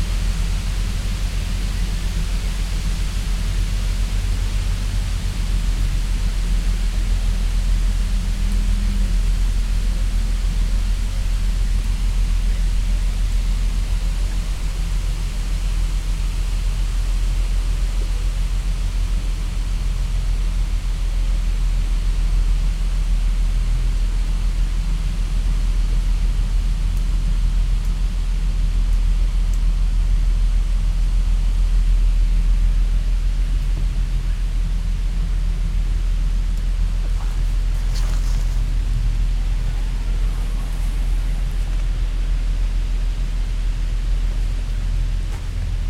wind in the trees 0:33.5 - 0:45.8
cargo ship is passing downstream 0:33.9 - 0:45.8

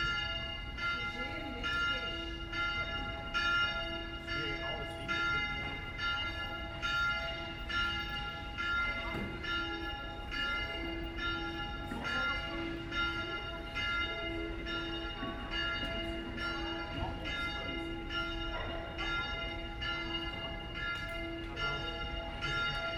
Bells 0:00.0 - 0:22.9

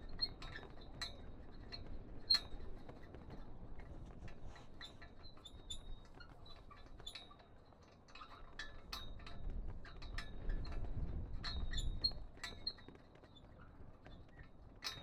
Castle flag on the wind 0:00.0 - 0:15.0

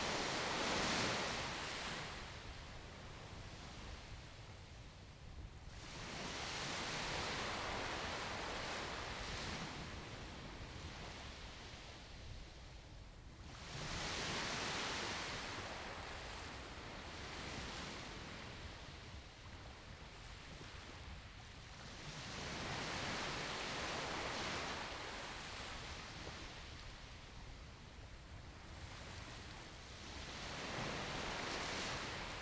Waves 0:13.9 - 0:32.4

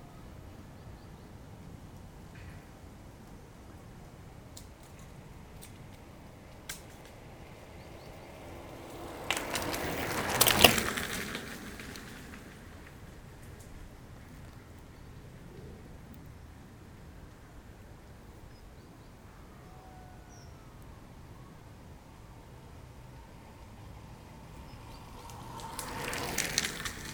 bicycles circulating on it 0:01.4 - 0:19.3
two trains 0:02.3 - 0:14.9
bicycles circulating on it 0:20.8 - 0:27.1
two trains 0:21.9 - 0:27.1
acorns falling 0:25.6 - 0:27.1

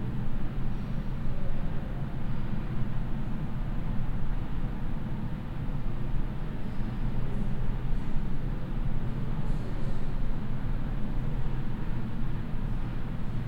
humming of the ventilation 0:00.0 - 0:13.4

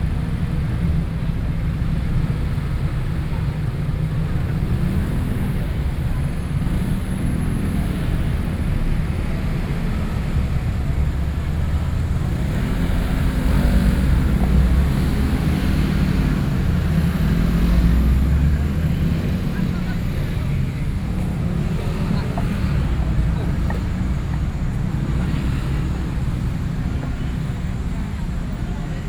The crowd 0:00.0 - 0:29.0
Traffic Noise 0:00.0 - 0:29.0

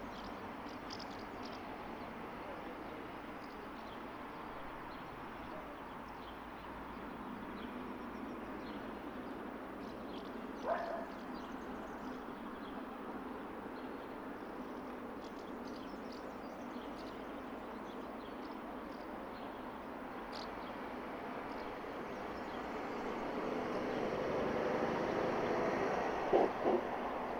couple of cars passing by 0:20.2 - 0:27.3
small aircraft passes overhead 0:22.0 - 0:27.3

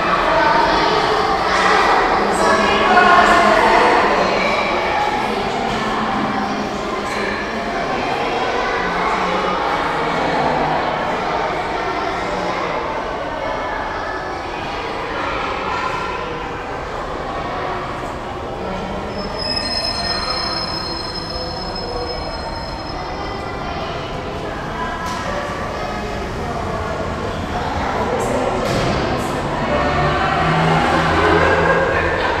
school children leaving the theater performance 0:00.0 - 0:32.4

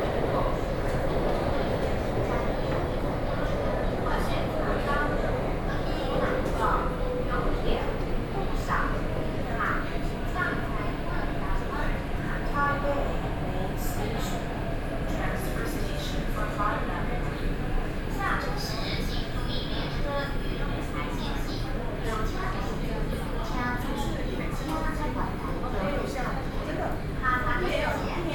in the MRT train 0:00.0 - 0:28.3

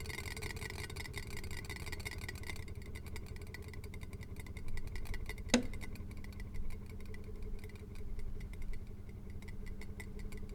boiling water with a wobbly pot 0:00.0 - 0:10.5

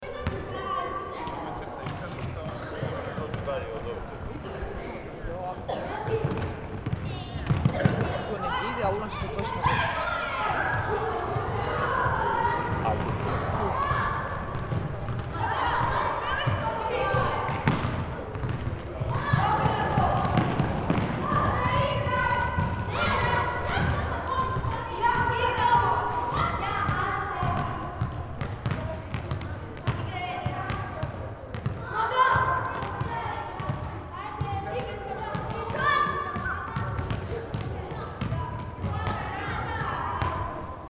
handball training 0:10.6 - 0:40.8

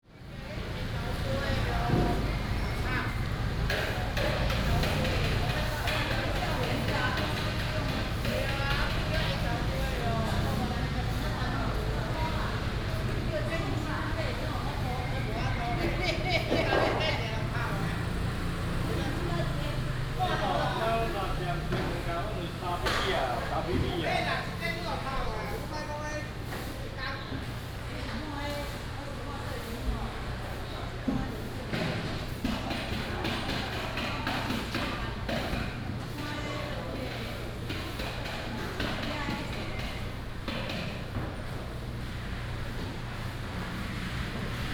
traffic sound 0:00.1 - 0:25.8
vendors are packing up 0:00.1 - 0:44.7
traffic sound 0:37.0 - 0:44.7

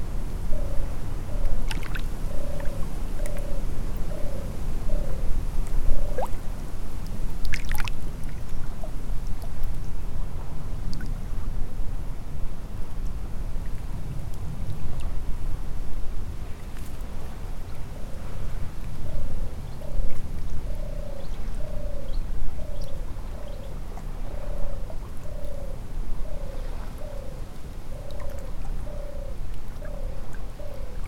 european turtle dove 0:00.0 - 0:11.8
very very quiet Risle river 0:00.0 - 0:31.0
european turtle dove 0:16.2 - 0:31.0

